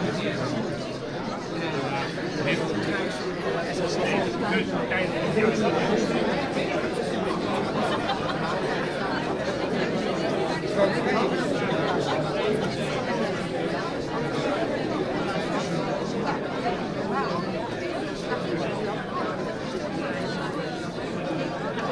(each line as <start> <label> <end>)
0.0 audience in the theatre foyer 21.9